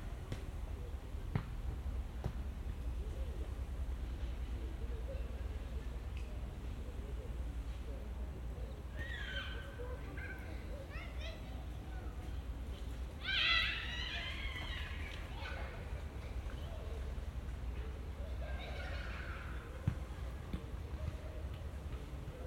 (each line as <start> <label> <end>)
1.3 kicking the ball on the playground 1.6
9.0 children are screaming 9.8
13.2 children are screaming 15.9
19.8 kicking the ball on the playground 22.1